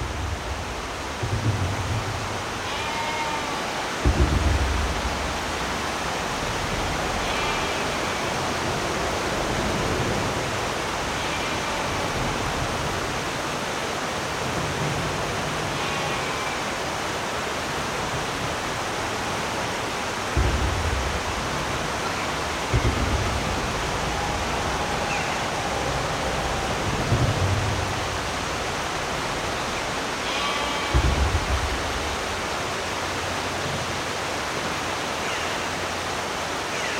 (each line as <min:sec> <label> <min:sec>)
0:00.0 beck flowing nearby 0:36.9
0:18.1 drips falling down 0:33.3